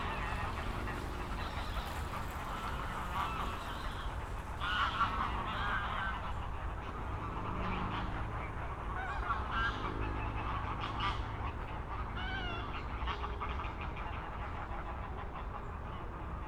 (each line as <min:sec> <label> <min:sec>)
0:00.0 trains 0:07.2
0:00.0 cyclists and pedestrians passing by 0:09.0
0:00.0 traffic noise 0:13.6
0:00.0 aircraft 0:16.4
0:00.0 many geese gathering at the pond 0:16.4